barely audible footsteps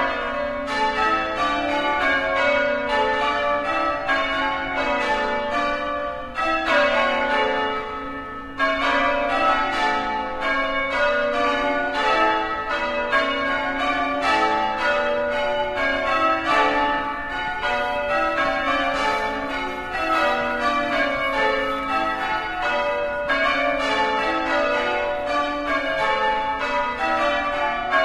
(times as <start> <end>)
17.6 23.2